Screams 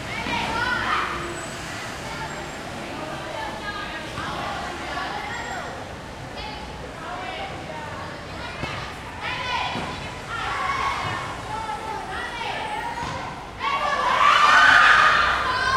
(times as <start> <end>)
13.6 15.7